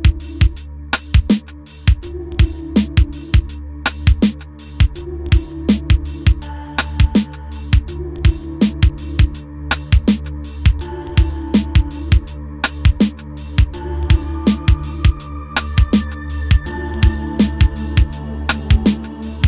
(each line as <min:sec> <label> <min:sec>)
0:00.0 d bass 0:19.4
0:00.0 hip hop drum beat 0:19.4
0:01.9 auto tuned my vocal 0:03.6
0:04.8 auto tuned my vocal 0:09.7
0:10.6 auto tuned my vocal 0:19.4